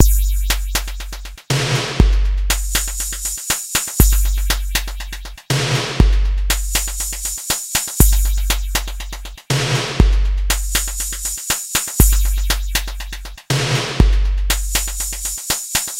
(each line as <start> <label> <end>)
0.0 TR-808 beat 15.9